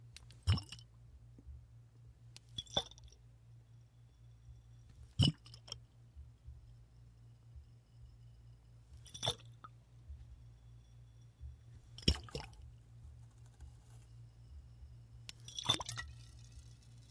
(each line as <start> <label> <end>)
12.0 Liquid sloshes in bottle 12.6
15.4 Liquid sloshes in bottle 16.2